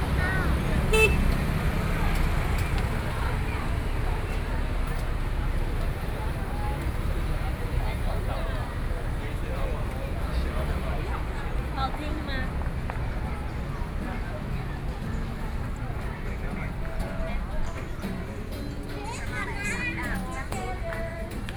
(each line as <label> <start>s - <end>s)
Traffic Sound 0.0s - 21.5s
Various shops voices 0.0s - 21.5s
walking in the Street 0.0s - 21.5s